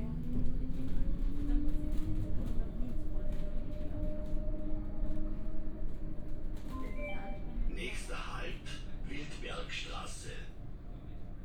tram ride 0.0 - 11.4

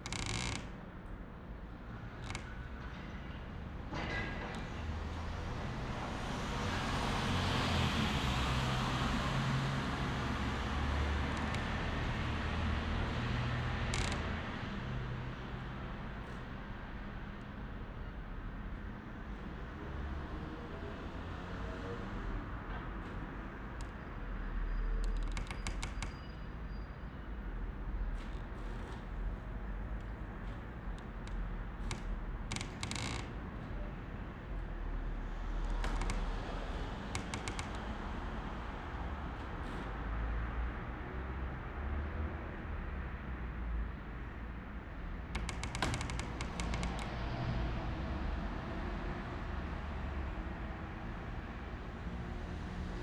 various squeaking windows 0.0 - 0.8
waves of traffic 2.1 - 53.0
various squeaking windows 10.1 - 16.5
various squeaking windows 23.0 - 40.5
various squeaking windows 45.2 - 47.6

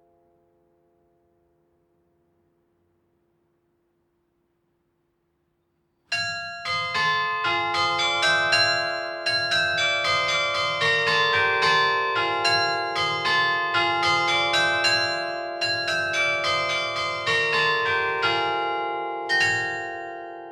Carillon 6.1 - 20.5

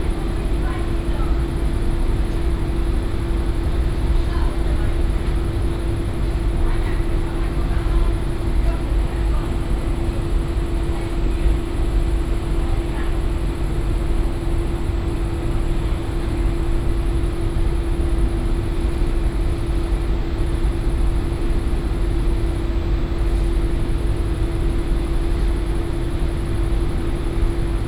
employees talking 0.0 - 13.7
hum of commercial washing machines 0.0 - 27.8

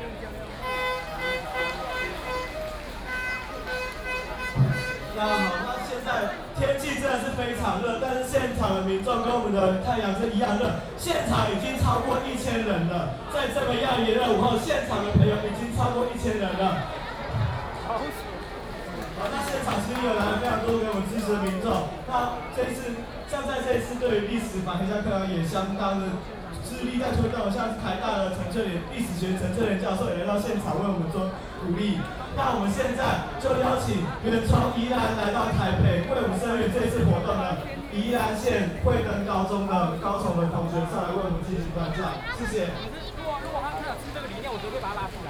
High school student protests 0.0 - 45.2

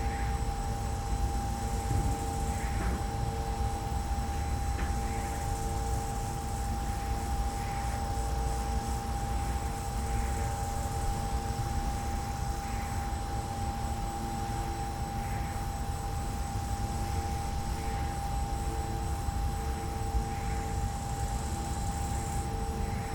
crickets 0.0 - 23.1
silent wind turbine 0.0 - 23.1

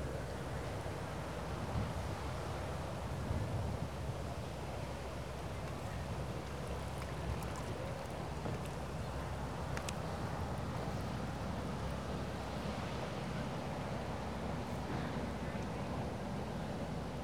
tourist boat passes by 0.0 - 17.2

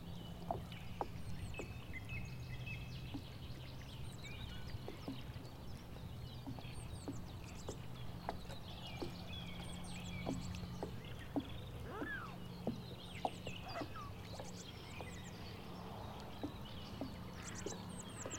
water beating agants boat 0.0 - 18.3
swans 7.7 - 15.2

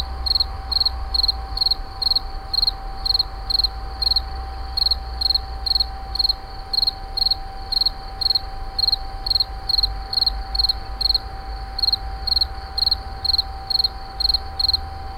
Insect 0.0 - 15.1

